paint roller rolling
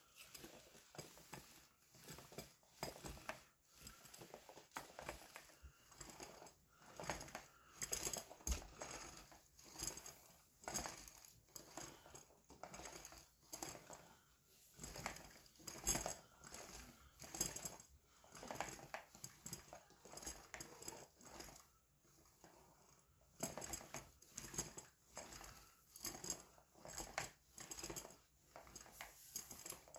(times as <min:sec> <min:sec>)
0:00.2 0:14.1, 0:23.4 0:29.9